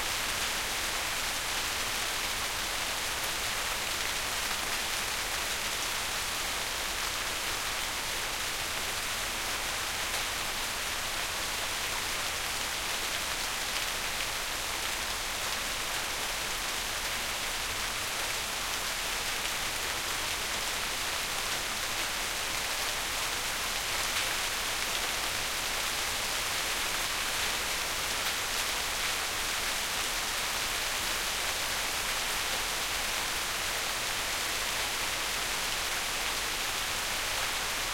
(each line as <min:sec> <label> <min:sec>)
0:00.0 rain 0:37.9